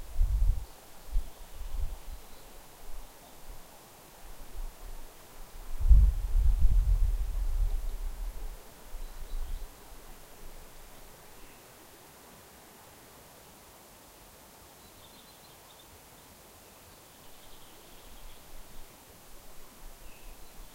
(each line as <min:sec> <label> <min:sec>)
0:00.0 light forest sounds 0:20.7